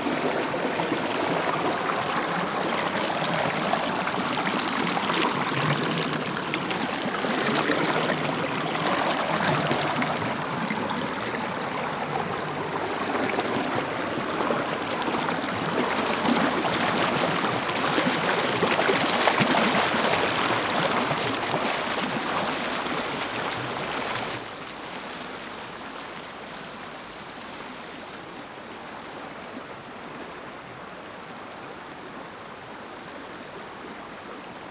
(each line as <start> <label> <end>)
0.0 water continues its way through branches and rocks 30.6